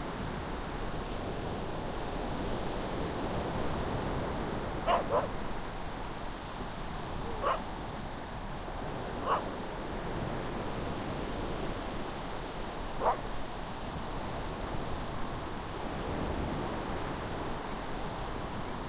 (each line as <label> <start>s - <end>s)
waves 0.0s - 18.8s
dog barking 4.8s - 5.5s
dog barking 7.2s - 7.7s
dog barking 9.2s - 9.5s
dog barking 13.0s - 13.3s